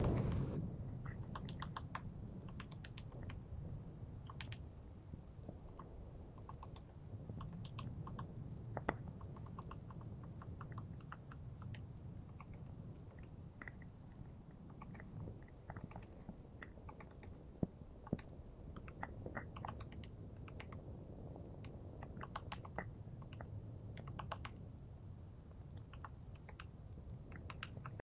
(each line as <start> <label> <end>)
0.0 Woodpecker pecking 3.4
4.2 Woodpecker pecking 4.6
5.6 Woodpecker pecking 20.9
21.6 Woodpecker pecking 24.6
25.7 Woodpecker pecking 28.0